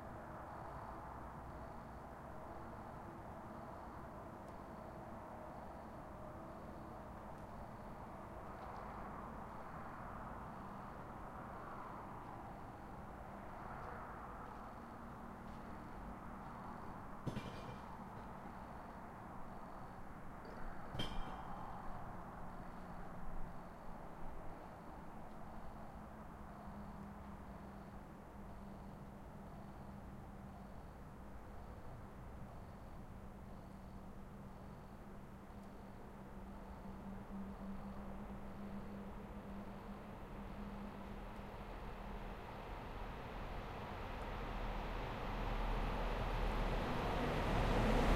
passing by cargo-train 0.0 - 48.1

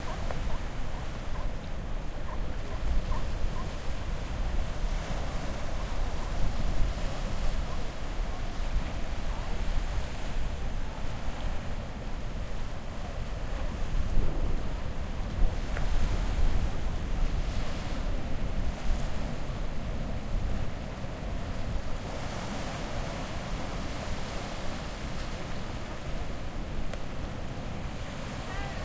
sea lions 0.0 - 11.5
seashore 0.0 - 28.8
sea lions 27.4 - 28.8
sea gulls 28.1 - 28.8

